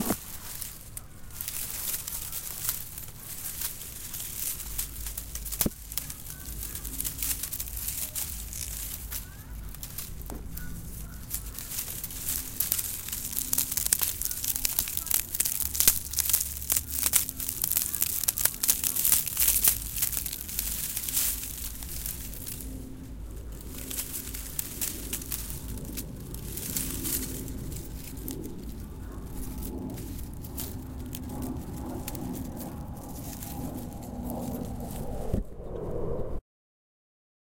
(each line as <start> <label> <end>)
0.0 shrubs being moved by hand 35.3